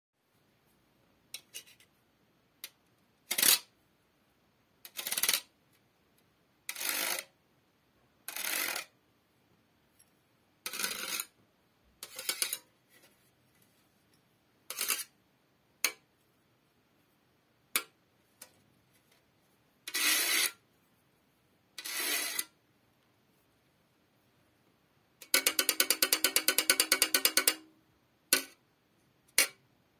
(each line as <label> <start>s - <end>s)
Scraping a Grater with a Fork 6.7s - 7.3s
Scraping a Grater with a Fork 10.7s - 11.3s
Scraping a Grater with a Fork 12.0s - 13.2s
Scraping a Grater with a Fork 14.7s - 15.1s
Scraping a Grater with a Fork 19.9s - 20.6s
Scraping a Grater with a Fork 21.8s - 22.5s
tapping on a cheese grater with a fork 25.2s - 27.7s
tapping on a cheese grater with a fork 28.4s - 28.6s